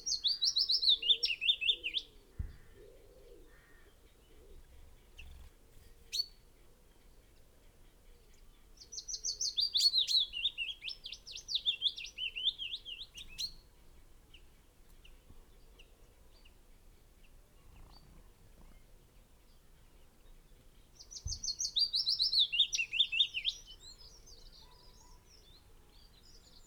blackbird 0.0 - 26.6
pheasant 0.0 - 26.6
willow warbler song 0.0 - 26.6
wood pigeon 0.9 - 6.2
crow 2.4 - 4.0

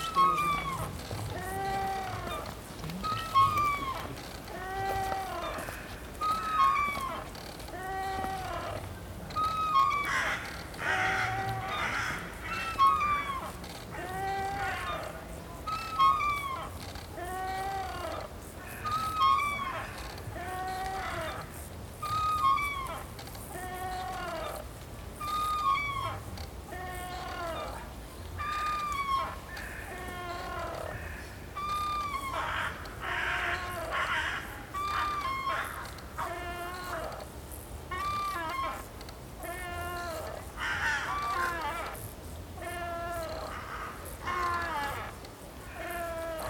Bird sounds 0.0 - 37.2
screeching of a wooden swing in use 0.0 - 46.4
tourists 0.0 - 46.4

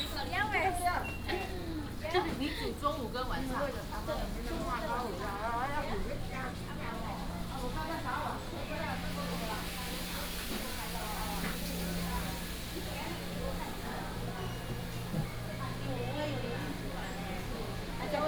Walking in a small alley 0.0 - 18.2

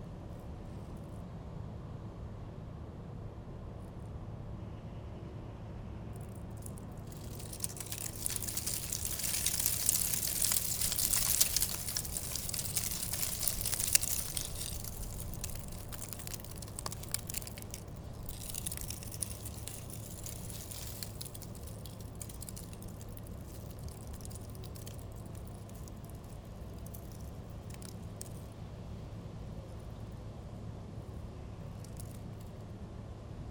wind was blowing in vortex, leading dead leaves 7.0 - 28.4

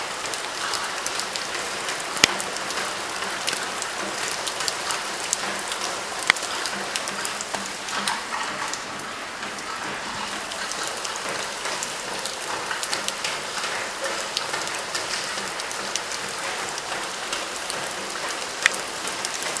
Raindrops falling on suface of different materials 0.0 - 19.6

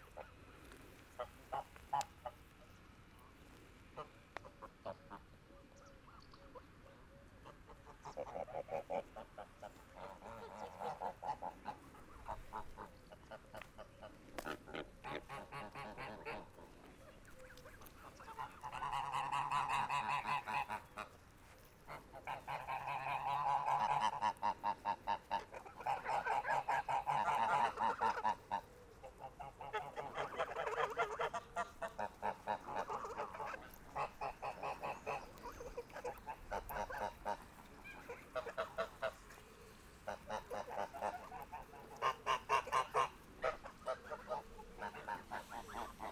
Angry geese 0.0 - 2.5
Angry geese 3.9 - 46.1

